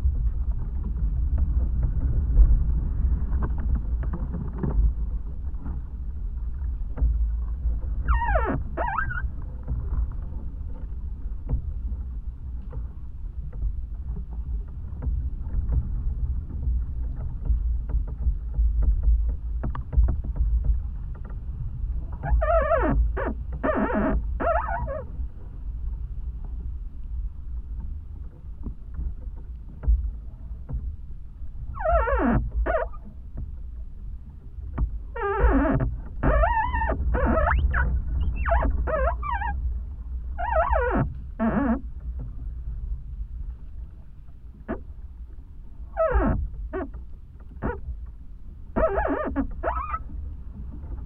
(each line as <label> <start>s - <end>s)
wind and singing tree 16.5s - 51.0s